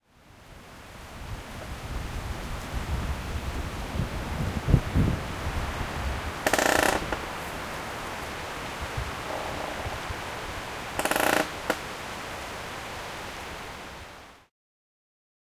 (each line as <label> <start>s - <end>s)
wind 0.0s - 14.5s
Creaking Tree 6.4s - 7.6s
Creaking Tree 9.0s - 11.9s